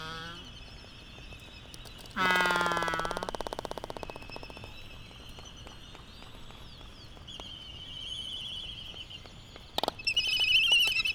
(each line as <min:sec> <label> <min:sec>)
0:00.0 canary 0:09.2
0:01.7 Laysan albatross dancing 0:11.1